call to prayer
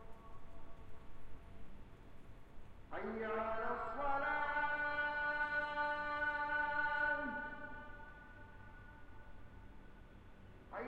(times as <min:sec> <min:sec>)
0:02.9 0:10.0